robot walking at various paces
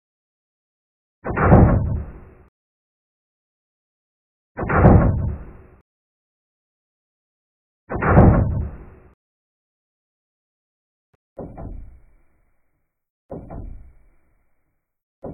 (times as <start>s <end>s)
1.2s 2.3s, 11.4s 12.2s, 13.3s 14.3s